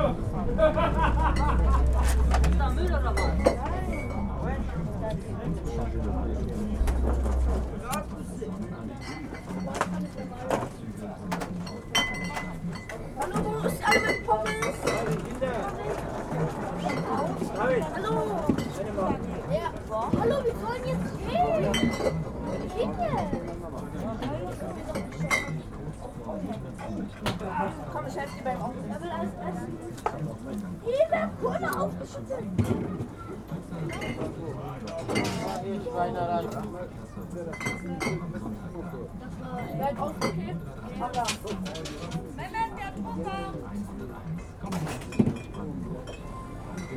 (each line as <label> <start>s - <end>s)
venders and visitors of the flea market 0.0s - 46.9s